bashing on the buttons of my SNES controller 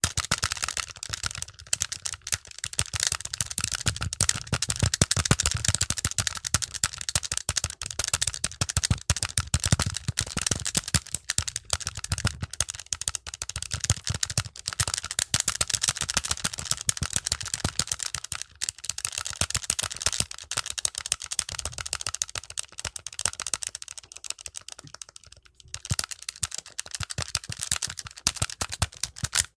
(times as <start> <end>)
0.0 18.3